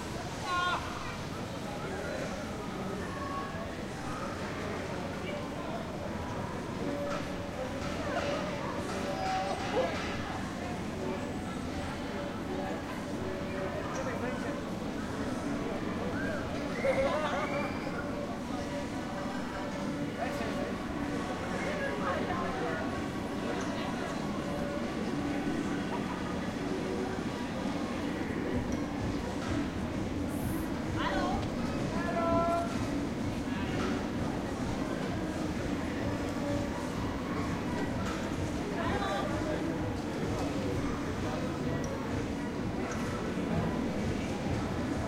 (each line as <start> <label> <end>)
0.0 people 45.0